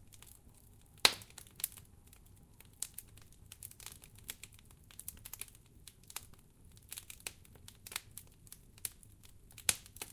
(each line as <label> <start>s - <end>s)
Crackeling Fireplace 0.0s - 10.1s